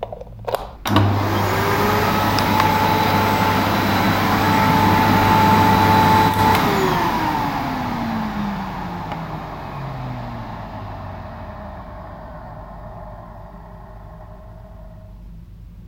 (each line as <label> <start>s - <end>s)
cable 0.0s - 15.1s
switch 0.5s - 1.3s
Vacuum cleaner in action 0.8s - 15.1s
switch 6.2s - 6.9s
switch 9.0s - 9.3s